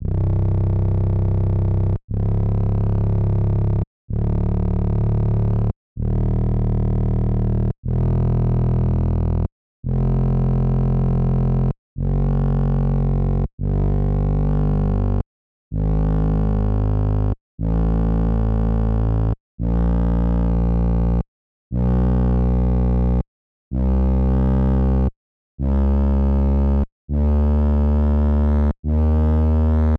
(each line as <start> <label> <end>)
0.0 Bass 29.9